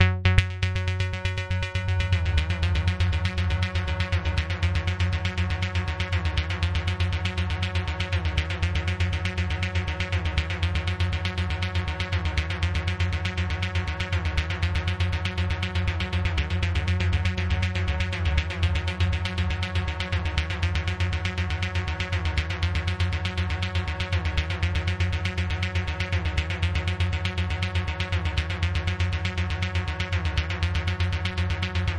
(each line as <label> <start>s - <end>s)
synth 0.0s - 26.4s
bassline 0.0s - 31.9s